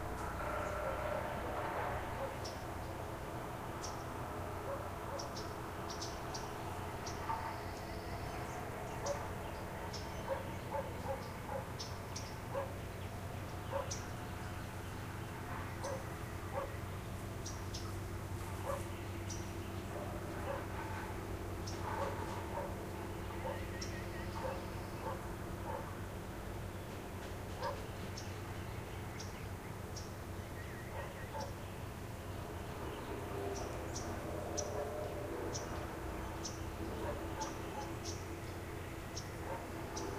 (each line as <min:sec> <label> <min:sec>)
0:00.0 birds 0:40.1
0:00.4 barking 0:02.4
0:10.2 barking 0:11.7
0:12.5 barking 0:12.8
0:13.7 barking 0:14.0
0:15.8 barking 0:16.8
0:18.6 barking 0:18.9
0:20.0 barking 0:21.0
0:21.8 barking 0:22.8
0:23.4 barking 0:23.7
0:24.3 barking 0:26.0
0:27.6 barking 0:27.8
0:30.9 barking 0:31.5
0:34.6 barking 0:35.7
0:36.8 barking 0:38.0
0:39.4 barking 0:40.1